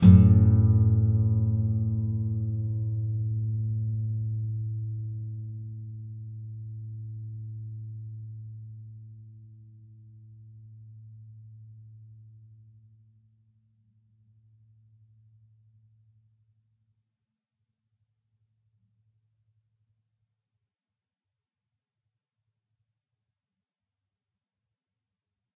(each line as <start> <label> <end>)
0.0 nylon guitar 12.7